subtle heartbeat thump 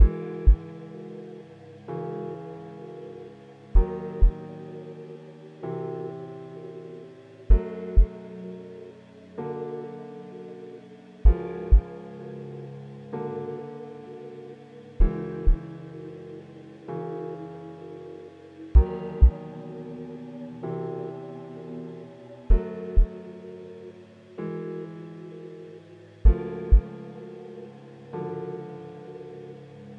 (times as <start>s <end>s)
0.0s 0.6s, 3.8s 4.4s, 11.2s 11.8s, 18.8s 19.3s